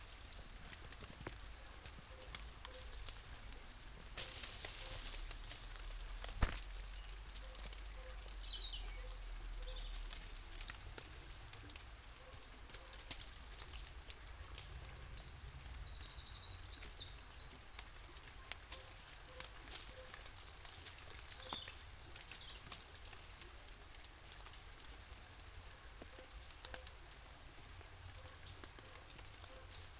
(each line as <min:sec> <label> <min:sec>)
0:00.0 snow falling from branch trees 0:16.2
0:00.0 doves 0:16.3
0:18.4 dog is barking from their house 0:20.4
0:28.0 dog is barking from their house 0:29.9